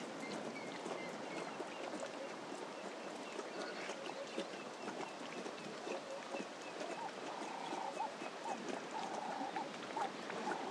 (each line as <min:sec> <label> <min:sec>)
0:00.0 birds 0:10.7
0:00.1 lion drinking 0:10.7